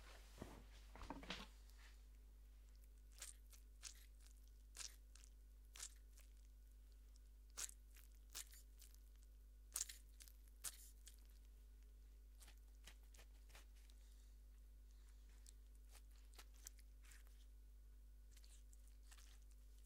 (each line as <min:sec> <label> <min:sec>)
0:02.6 Grapefruit Squish 0:11.5
0:12.3 Grapefruit Squish 0:14.0
0:14.8 Grapefruit Squish 0:17.6
0:18.2 Grapefruit Squish 0:19.8